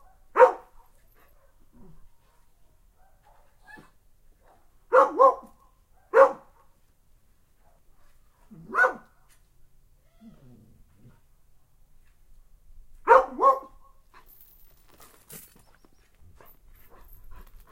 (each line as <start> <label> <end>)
0.0 barking 0.7
0.0 mixed-breed dog 6.8
4.5 barking 6.6
8.5 barking 9.1
13.1 barking 14.3
13.1 mixed-breed dog 17.7
16.3 panting 17.7